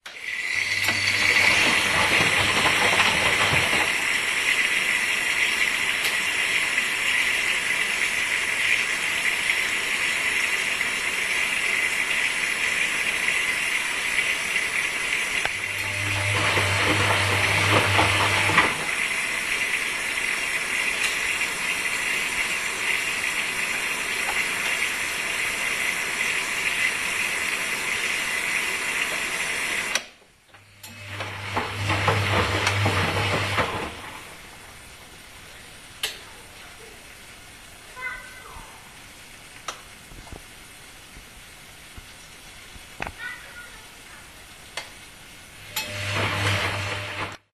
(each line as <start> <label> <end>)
0.0 wasching machine 6.5
15.4 wasching machine 30.1
30.8 wasching machine 34.3
45.6 wasching machine 47.5